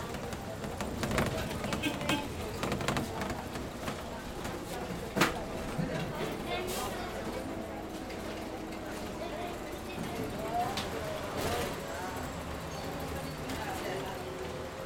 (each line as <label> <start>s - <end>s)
maquinaria destinada para el transporte 0.0s - 10.5s